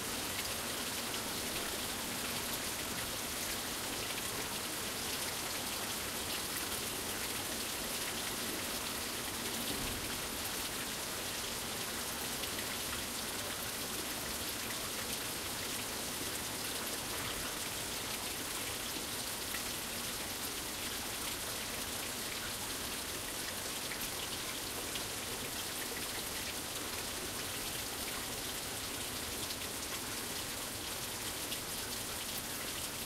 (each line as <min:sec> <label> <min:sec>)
0:00.0 rain 0:33.0